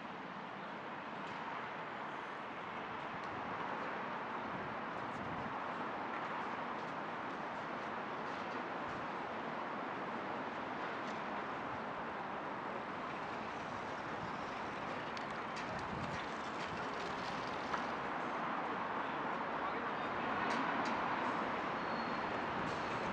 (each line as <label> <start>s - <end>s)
cyclists 0.0s - 23.1s
pedestrians 0.0s - 23.1s
vehicles 0.0s - 23.1s
windy conditions 0.0s - 23.1s
skateboarders 12.8s - 18.4s